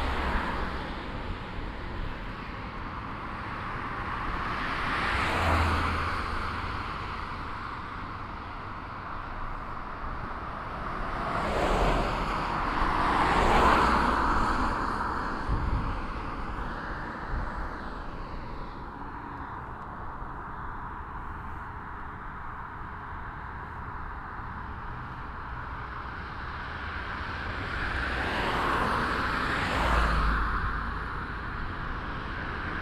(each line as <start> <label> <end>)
0.0 traffic passing by 32.8